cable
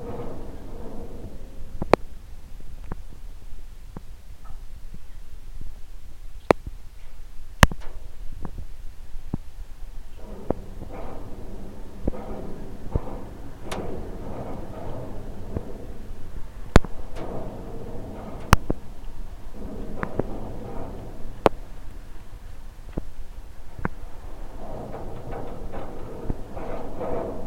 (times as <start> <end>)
10.1 27.4